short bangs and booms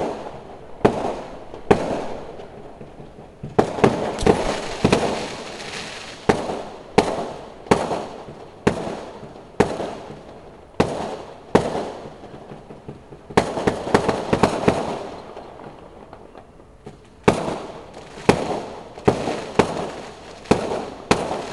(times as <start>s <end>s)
0.8s 15.4s